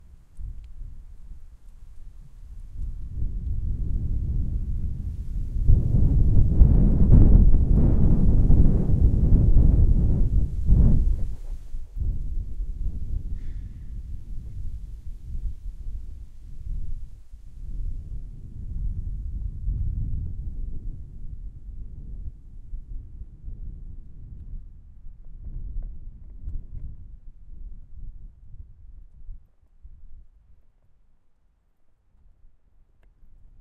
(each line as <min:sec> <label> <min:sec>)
0:00.0 wind 0:33.6